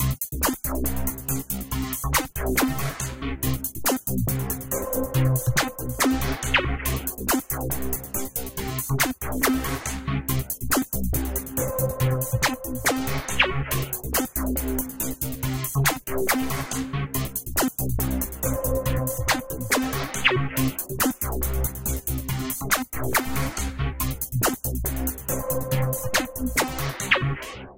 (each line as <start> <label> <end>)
0.0 Techno-DrumLoop 27.4